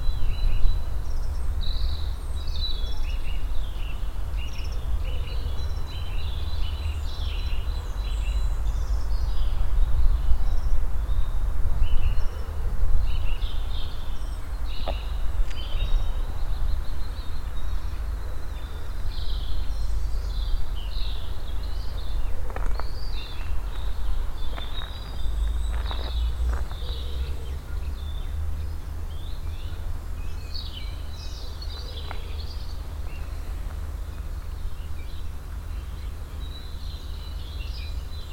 vivid birds in the trees and bushes 0.0 - 38.3
steps on the stony passway 14.7 - 16.0
steps on the stony passway 21.0 - 27.7
steps on the stony passway 31.7 - 35.2

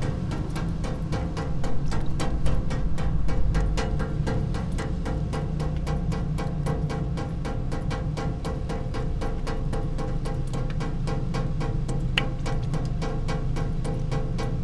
wind on water 0.0 - 8.8
fountain with one water stream 0.0 - 14.6

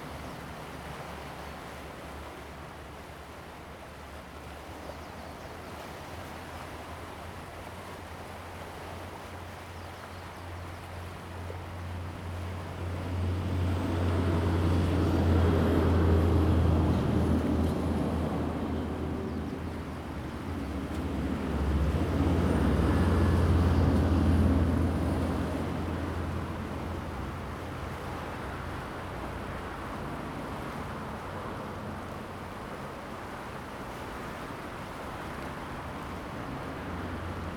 waves 0.0 - 37.5

